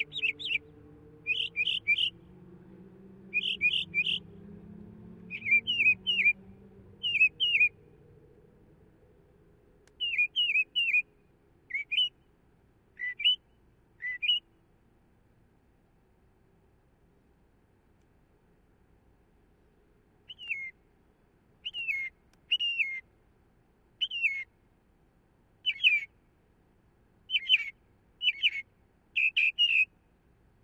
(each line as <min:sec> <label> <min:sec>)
0:00.0 Northern Mockingbird's various different calls 0:02.2
0:03.3 Northern Mockingbird's various different calls 0:04.3
0:05.3 Northern Mockingbird's various different calls 0:07.8
0:09.9 Northern Mockingbird's various different calls 0:12.2
0:12.9 Northern Mockingbird's various different calls 0:14.5
0:20.3 Northern Mockingbird's various different calls 0:20.8
0:21.6 Northern Mockingbird's various different calls 0:23.1
0:24.0 Northern Mockingbird's various different calls 0:24.5
0:25.6 Northern Mockingbird's various different calls 0:26.2
0:27.3 Northern Mockingbird's various different calls 0:30.0